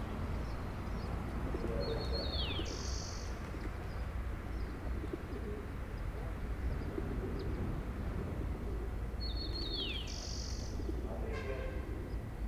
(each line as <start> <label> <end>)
10.9 man talking and waiting 11.9